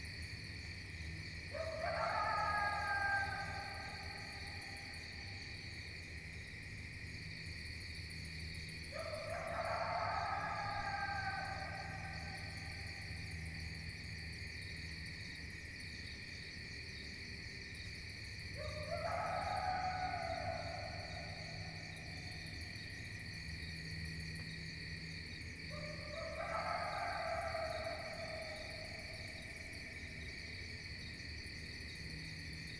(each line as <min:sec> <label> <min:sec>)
0:01.5 distant coyote 0:05.6
0:08.8 distant coyote 0:13.9
0:18.4 distant coyote 0:23.1
0:25.7 distant coyote 0:30.3